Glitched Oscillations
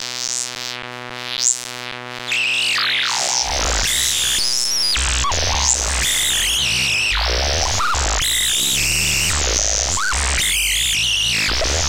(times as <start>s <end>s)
3.1s 11.8s